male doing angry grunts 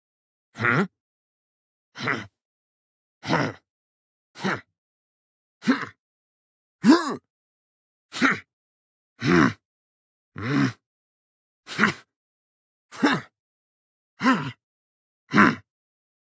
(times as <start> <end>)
0.6 0.9, 2.0 2.3, 3.2 3.6, 4.4 4.7, 5.6 6.0, 6.8 7.3, 9.2 9.6, 10.4 10.8, 11.7 12.1, 12.9 13.3, 14.2 14.6, 15.3 15.7